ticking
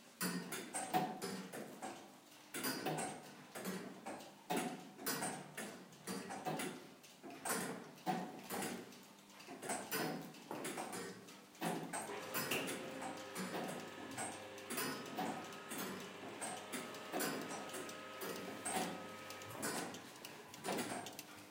0:12.0 0:21.5

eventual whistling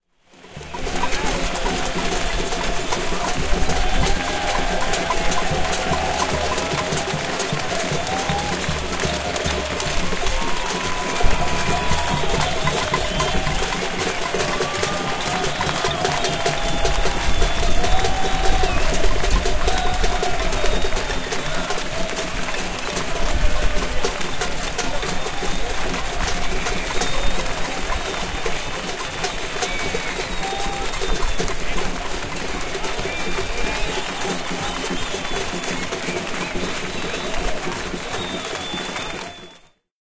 0:10.6 0:19.9, 0:29.0 0:31.8, 0:33.0 0:39.8

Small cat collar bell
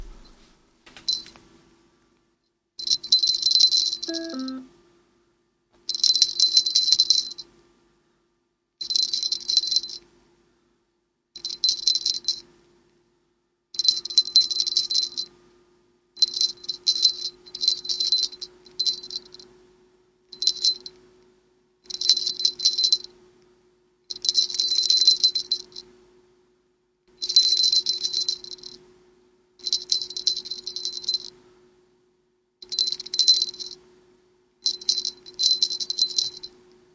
0:02.8 0:04.6, 0:05.9 0:07.5, 0:08.8 0:10.1, 0:11.4 0:12.5, 0:13.8 0:15.3, 0:16.2 0:19.5, 0:20.3 0:21.0, 0:21.9 0:23.1, 0:24.1 0:25.9, 0:27.1 0:28.8, 0:29.6 0:31.4, 0:32.6 0:33.8, 0:34.6 0:36.6

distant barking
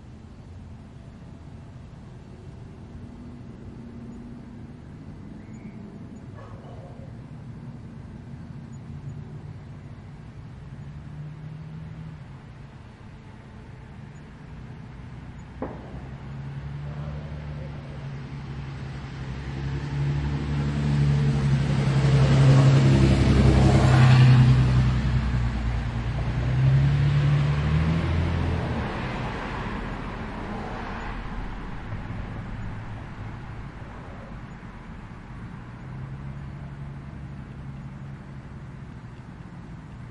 0:05.6 0:07.3, 0:15.6 0:18.3

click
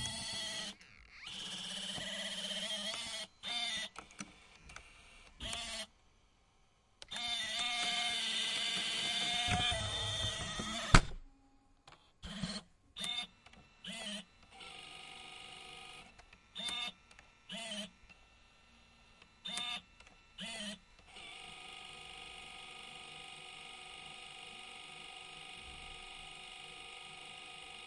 0:16.1 0:17.3

